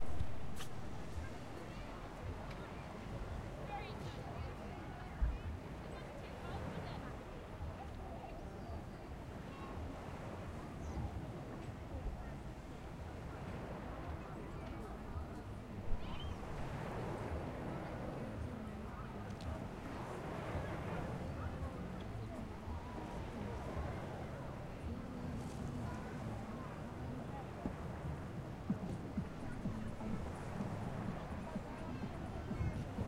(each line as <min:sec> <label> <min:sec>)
0:00.0 people 0:33.0
0:00.0 sea 0:33.0